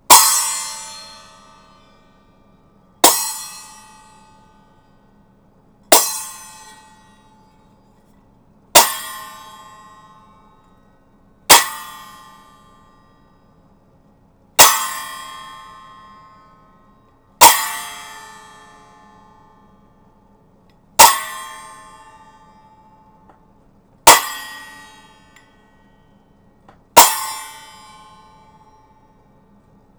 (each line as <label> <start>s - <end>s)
6'' hand cymbals crash together 0.1s - 1.4s
6'' hand cymbals crash together 3.0s - 4.0s
6'' hand cymbals crash together 5.9s - 6.8s
6'' hand cymbals crash together 8.8s - 9.6s
6'' hand cymbals crash together 17.4s - 17.9s
6'' hand cymbals crash together 24.0s - 24.6s
6'' hand cymbals crash together 27.0s - 27.5s